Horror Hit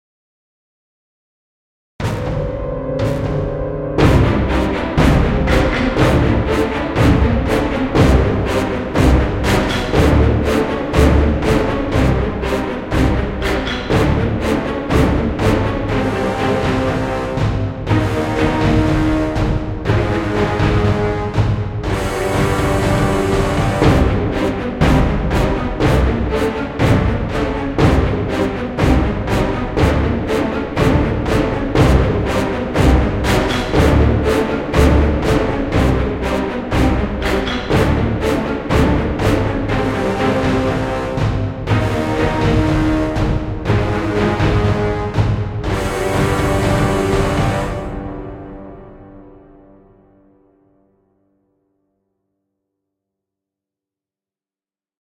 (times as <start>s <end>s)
2.0s 10.5s